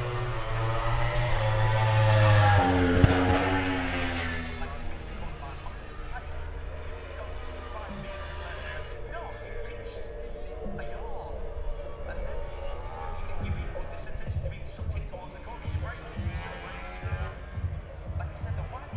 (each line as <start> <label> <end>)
0.0 moto grand prix free practice two 18.9